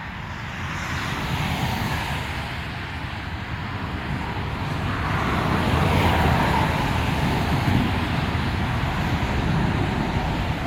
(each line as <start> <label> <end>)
0.0 motorway in the rain 10.6